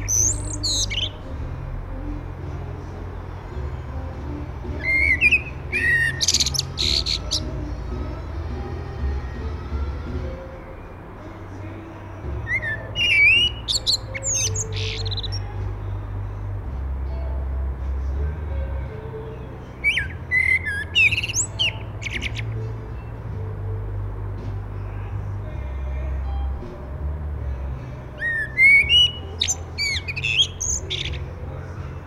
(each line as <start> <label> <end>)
0.0 Common Blackbird 1.4
3.8 Common Blackbird 8.3
11.5 Common Blackbird 15.6
19.3 Common Blackbird 23.1
27.8 Common Blackbird 32.0